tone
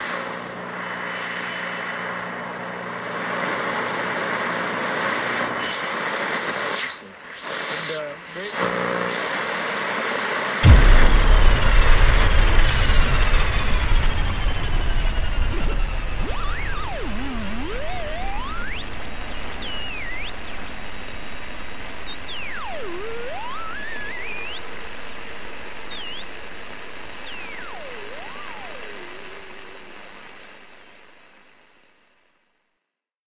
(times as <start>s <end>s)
10.6s 24.8s, 27.2s 30.2s